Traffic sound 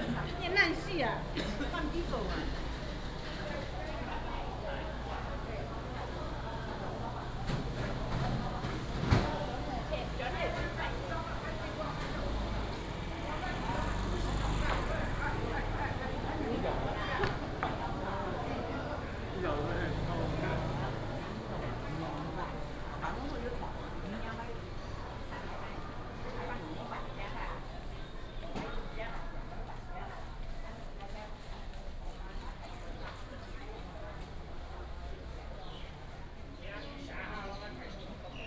0:00.0 0:29.6

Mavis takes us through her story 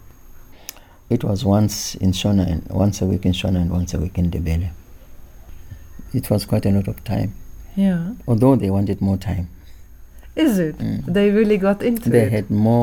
0:09.9 0:12.8

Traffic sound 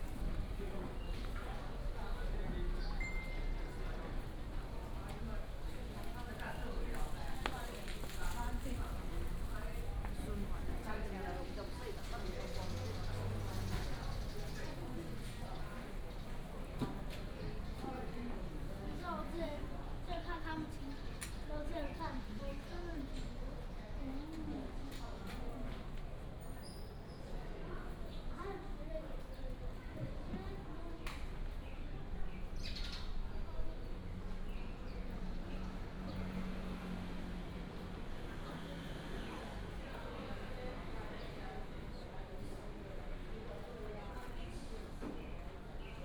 0:02.6 0:17.4, 0:33.7 0:43.7

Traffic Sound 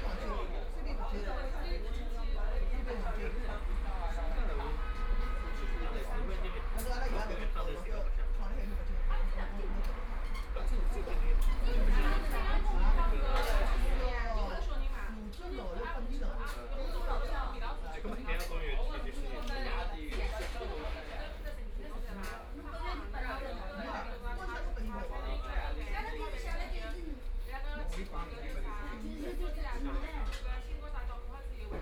0:00.0 0:15.4

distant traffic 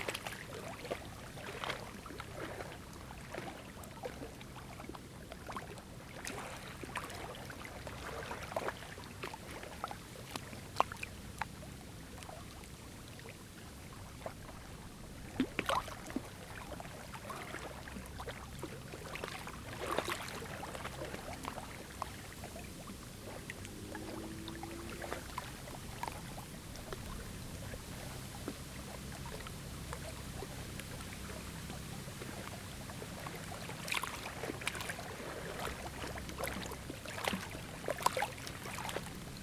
0:22.5 0:31.5

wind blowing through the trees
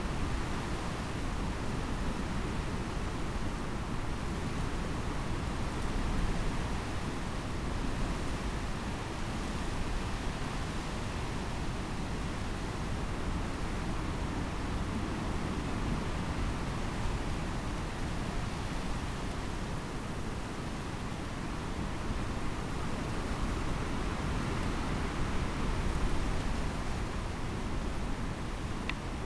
0:13.8 0:29.2

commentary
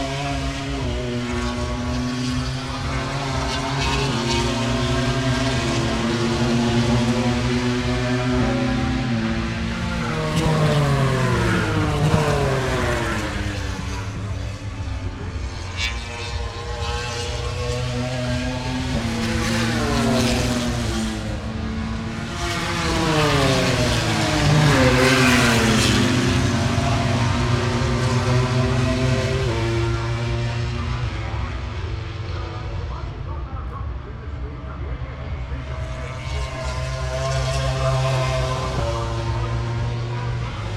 0:31.2 0:40.7

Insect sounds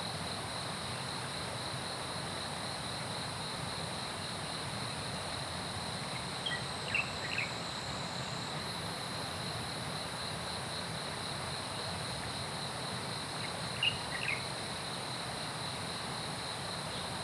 0:05.2 0:17.2

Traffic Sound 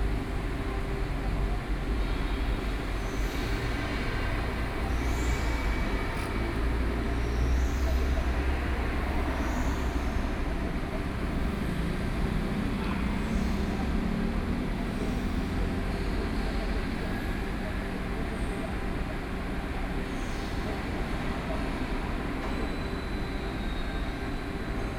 0:00.0 0:18.4

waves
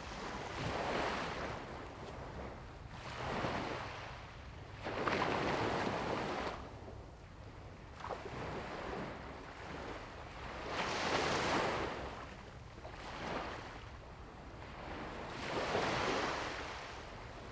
0:15.2 0:17.5

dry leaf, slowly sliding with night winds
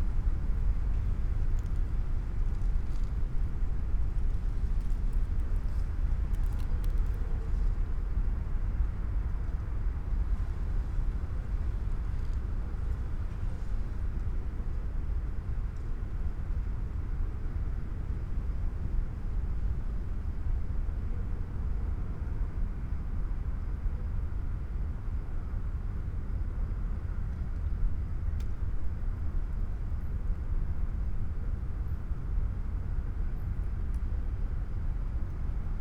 0:01.0 0:15.2

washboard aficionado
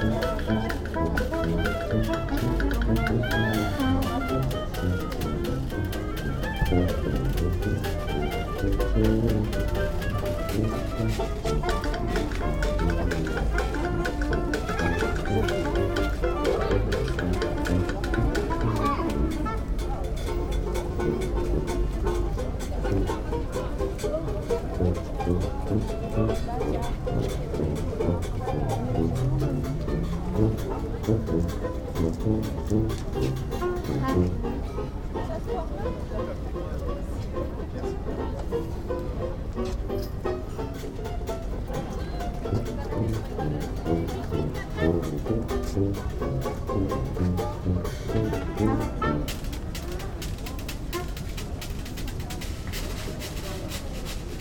0:00.0 0:20.1

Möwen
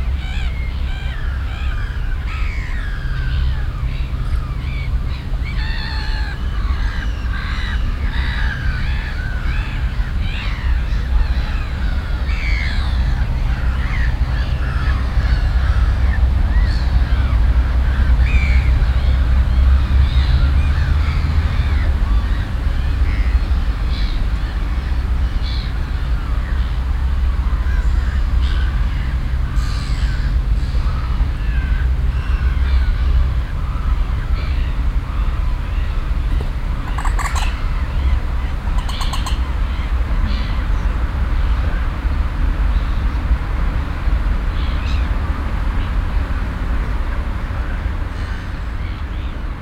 0:36.3 0:39.9

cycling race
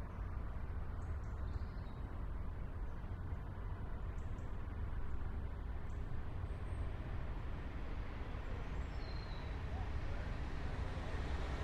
0:05.3 0:11.6

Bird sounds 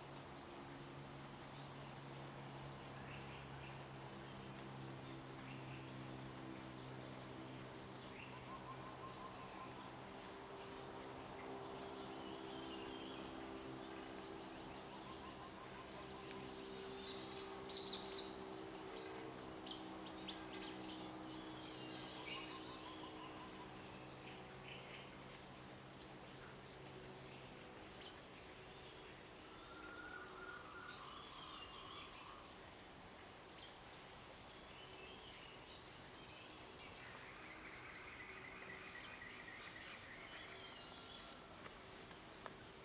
0:34.6 0:42.8

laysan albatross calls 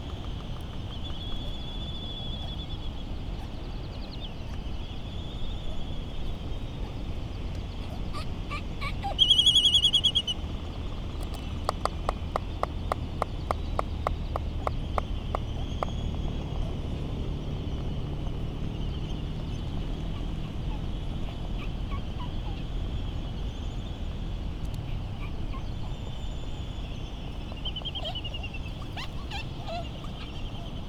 0:05.6 0:10.6, 0:24.8 0:30.8

